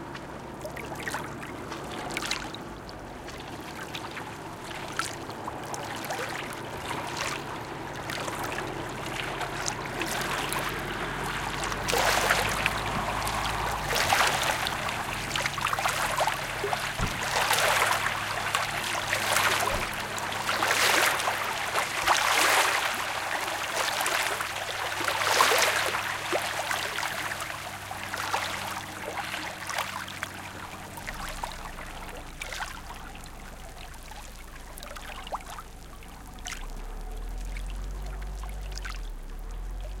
soft waves 0.0 - 40.0
traffic noise in background 0.0 - 40.0

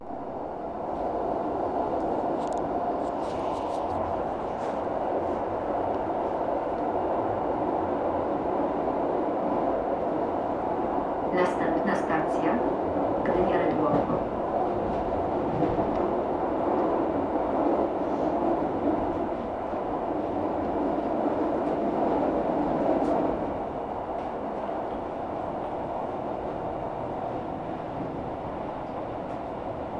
Train Ride 0.0 - 29.9
announcement 11.3 - 14.3

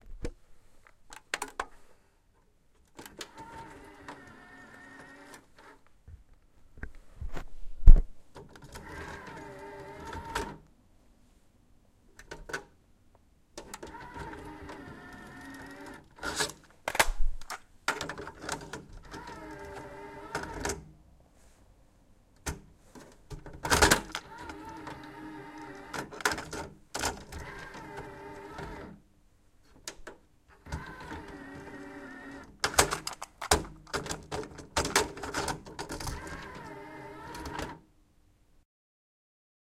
Cassette being loaded into cassette deck 13.6 - 20.8
Cassette being loaded into cassette deck 23.6 - 28.9
Cassette being loaded into cassette deck 30.7 - 37.8

